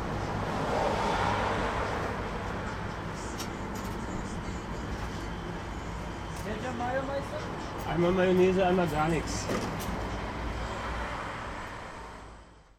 people talking 6.4 - 9.6

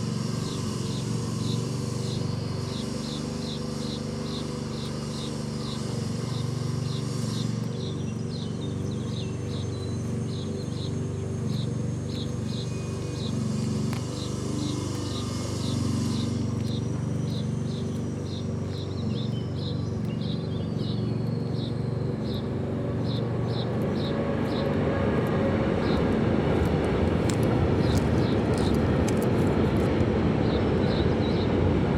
human machines 0.0 - 30.0

